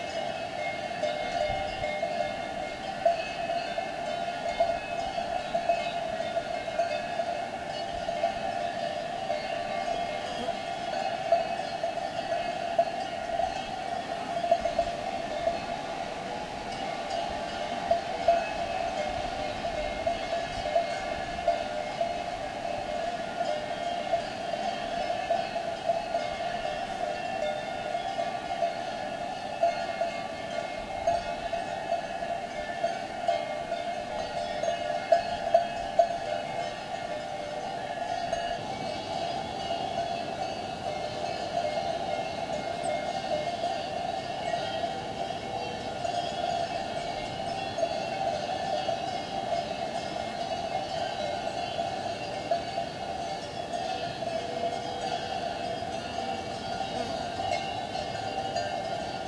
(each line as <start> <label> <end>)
0.0 cattle grazing 59.2
0.0 Cowbells 59.2